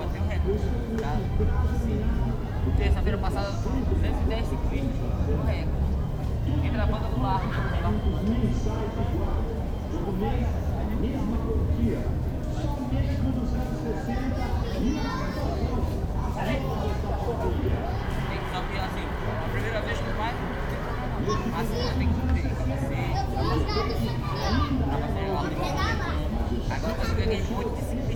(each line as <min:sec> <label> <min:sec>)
0:00.0 people walking, speaking, shouting 0:28.1
0:00.0 playing children 0:28.1
0:00.0 various distant musics 0:28.1
0:16.9 distant cars 0:22.6